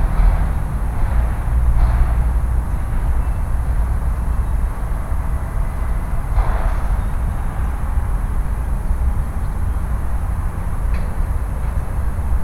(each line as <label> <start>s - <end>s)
urban sounds 0.0s - 12.4s